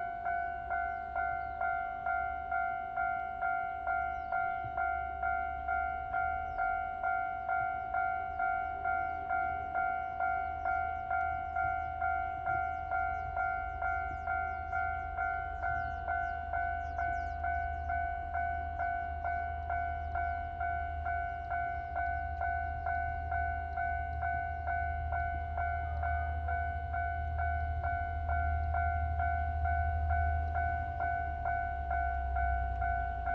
Train traveling through 0.0 - 33.3
Birds 7.5 - 23.8

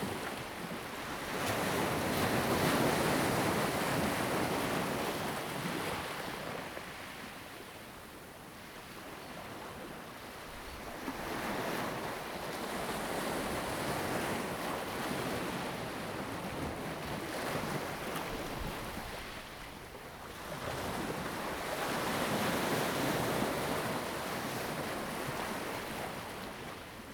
Waves and tides 10.7 - 27.1

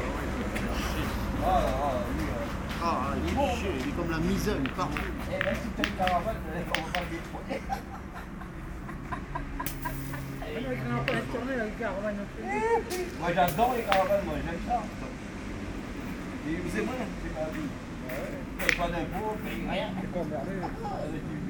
very noisy group plays bowling 0.0 - 20.8

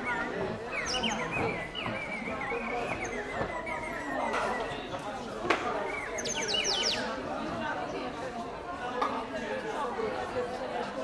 whistles 0.0 - 7.1
vendor presenting his wooden, hand-made toys 0.0 - 11.0

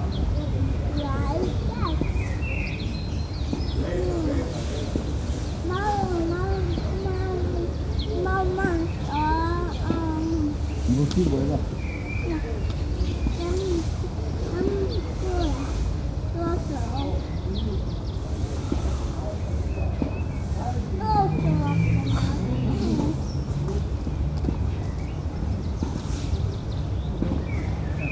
small child converses with his parents 0.0 - 24.6

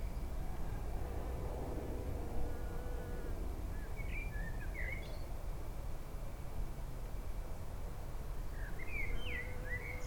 general rumble of traffic 0.0 - 10.0
birdsong 2.5 - 5.3
blackbird 3.7 - 5.3
birdsong 8.5 - 10.0
blackbird 8.5 - 10.0

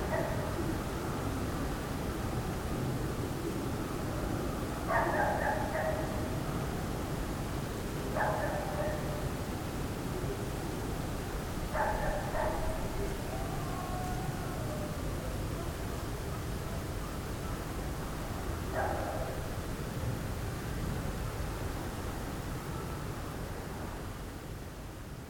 small dog is barking all night 0.0 - 0.6
small dog is barking all night 4.8 - 6.4
small dog is barking all night 8.1 - 9.3
small dog is barking all night 11.7 - 15.0
small dog is barking all night 16.3 - 19.5

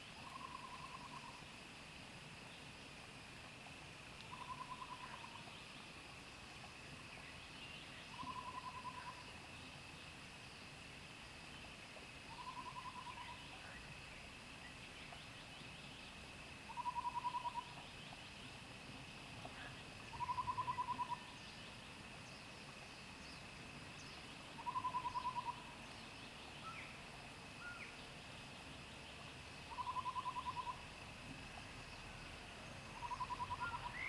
insects 0.0 - 34.0
Frogs sound 0.0 - 1.9
Frogs sound 3.4 - 34.0
Bird calls 16.7 - 18.2
Bird calls 20.1 - 21.4
Bird calls 24.6 - 25.8
Bird calls 29.7 - 30.8
Bird calls 33.0 - 34.0

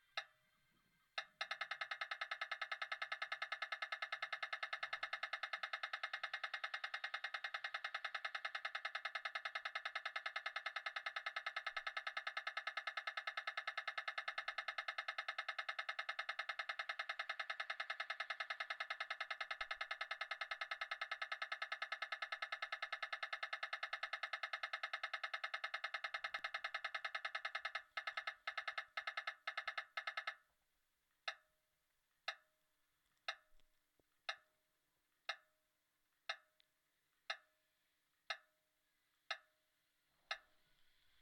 Trafficlights for the blind 40.2 - 41.2

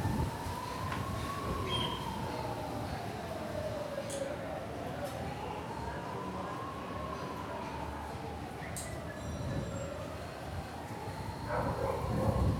owner of the cafe, standing in front door talking 0.0 - 12.5
dog barking 11.5 - 12.5

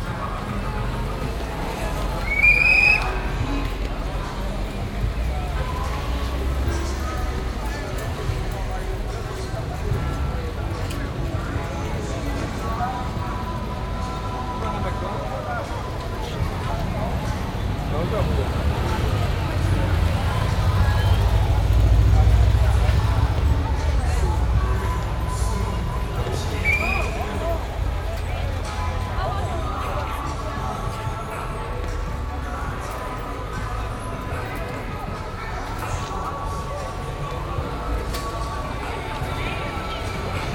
walking down the street 0.0 - 40.5

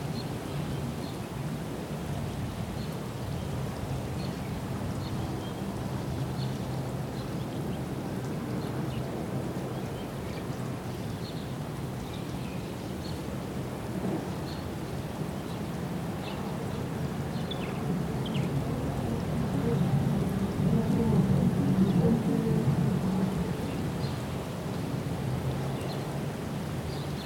Wedding celebrations carried on the wind 0.0 - 27.2

